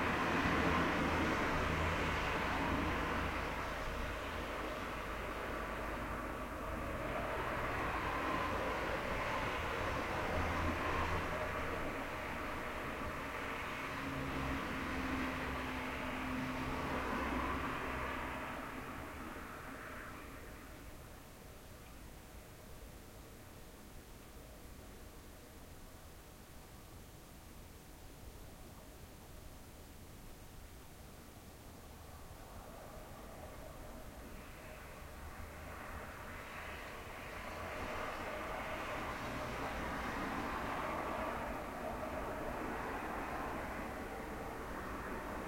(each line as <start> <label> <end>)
0.0 Cars passing outside window 27.9
30.9 Cars passing outside window 45.4